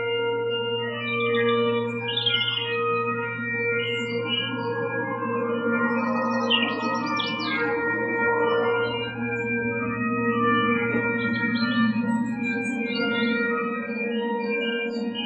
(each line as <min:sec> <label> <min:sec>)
0:01.1 birds 0:03.1